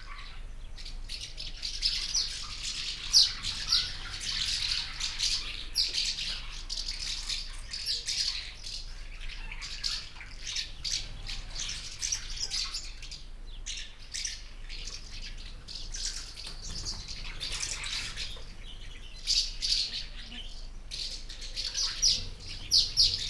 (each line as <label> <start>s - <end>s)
colony of housemartins 21.2s - 23.2s